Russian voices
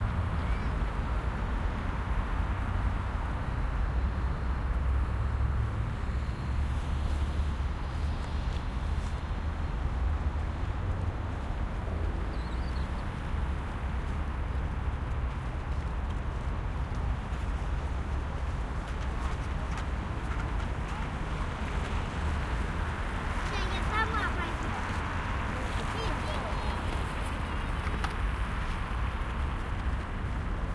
0:23.5 0:24.9, 0:25.5 0:27.0

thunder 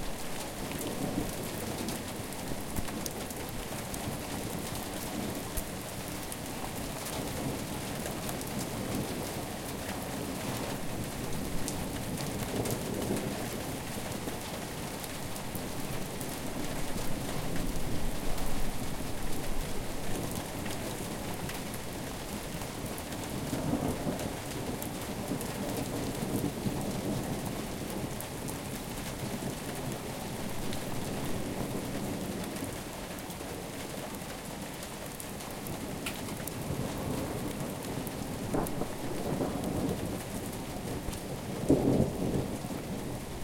0:36.7 0:43.2

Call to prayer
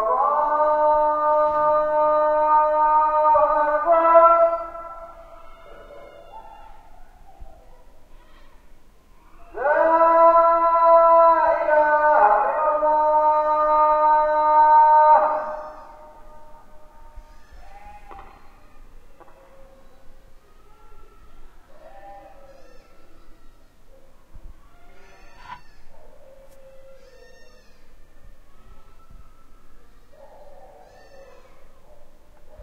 0:00.0 0:07.0, 0:09.4 0:24.6

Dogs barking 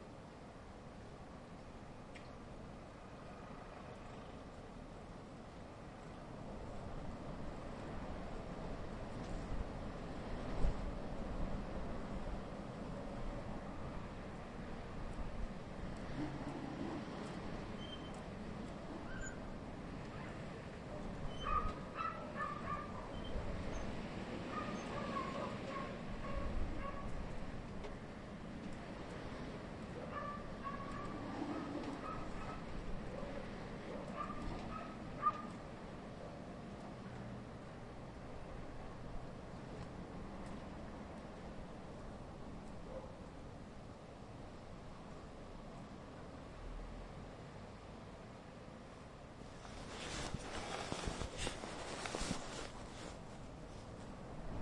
0:21.4 0:23.1, 0:24.5 0:27.1, 0:30.1 0:32.6, 0:34.0 0:35.5

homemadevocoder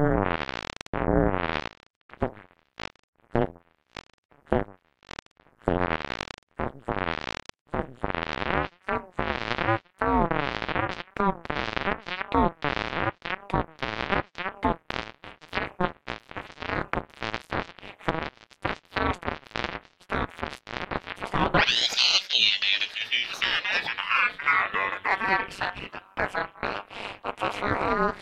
0:21.2 0:28.2

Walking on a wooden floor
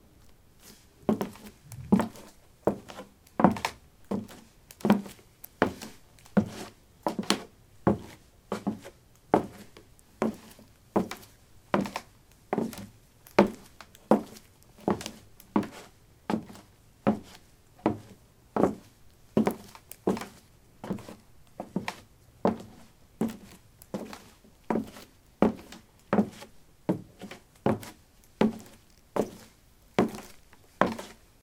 0:00.6 0:07.3, 0:13.4 0:31.2

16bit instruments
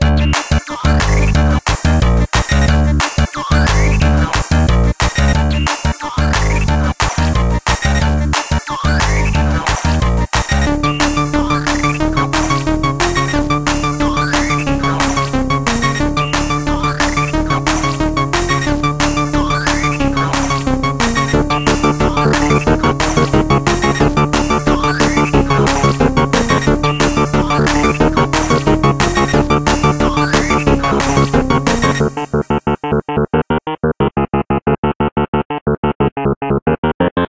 0:08.8 0:37.3

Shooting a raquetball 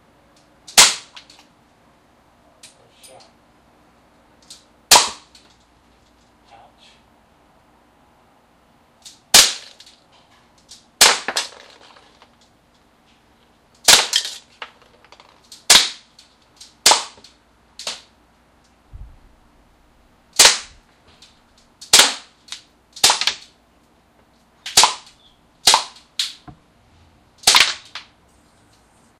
0:00.7 0:01.3, 0:04.9 0:05.4, 0:11.0 0:12.3, 0:16.8 0:17.2, 0:20.4 0:20.8, 0:24.7 0:26.6, 0:27.4 0:28.1

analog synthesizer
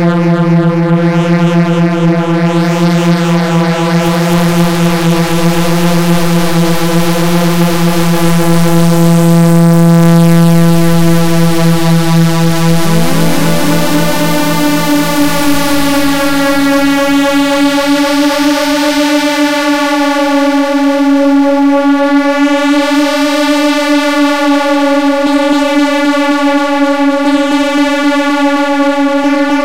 0:12.5 0:19.0

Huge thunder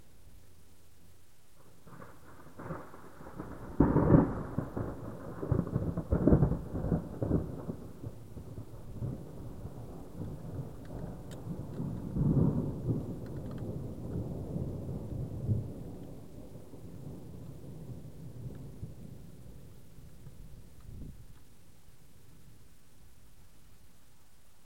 0:01.6 0:21.3

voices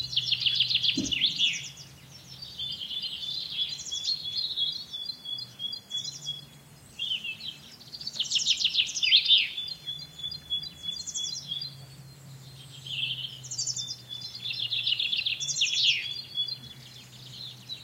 0:00.9 0:01.6

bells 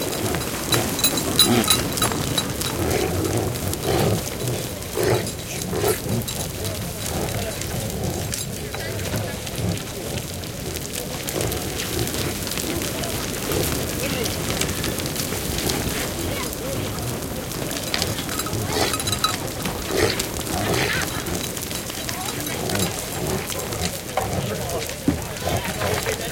0:00.0 0:04.5, 0:16.6 0:23.9

